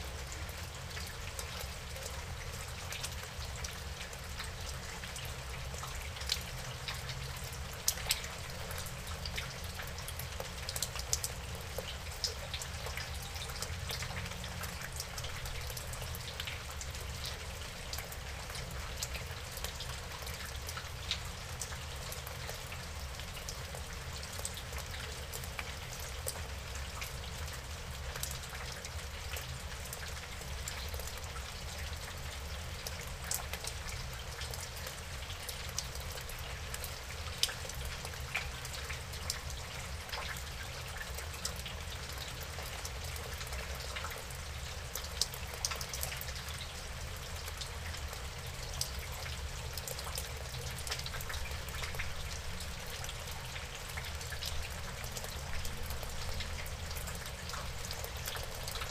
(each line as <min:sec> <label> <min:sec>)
0:00.0 rain was falling 0:58.9
0:00.3 drips and drops everywhere 0:58.9